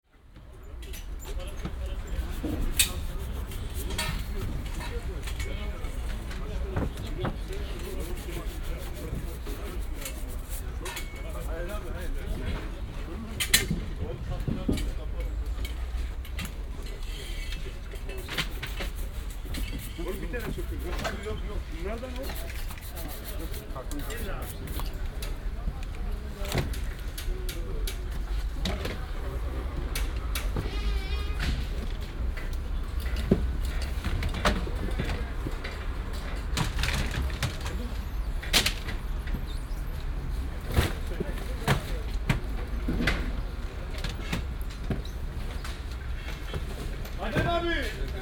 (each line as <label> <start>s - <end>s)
man brushes pineapples 1.8s - 4.6s
man brushes pineapples 7.5s - 12.3s
man brushes pineapples 18.1s - 24.9s